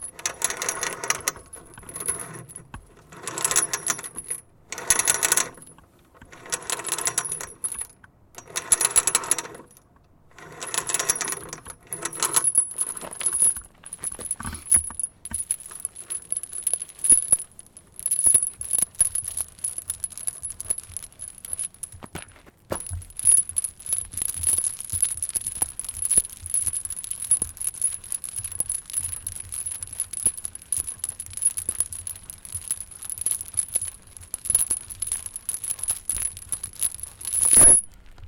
0.0s Scraping, jiggling and shaking a looped chain 9.8s
10.4s Scraping, jiggling and shaking a looped chain 22.2s
22.8s Scraping, jiggling and shaking a looped chain 37.9s

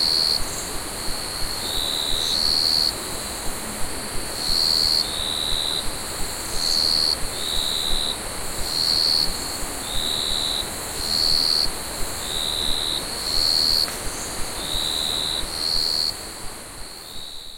0.0s river 17.5s
0.0s Crickets 17.5s
0.0s cicada 17.5s

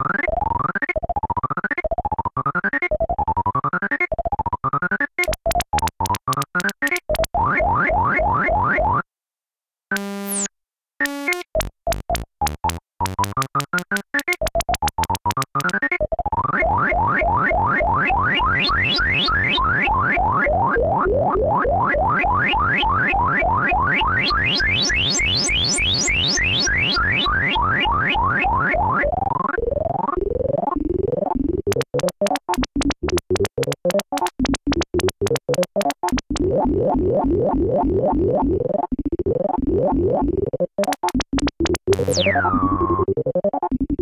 10.0s analog synth 38.8s
40.8s analog synth 44.0s

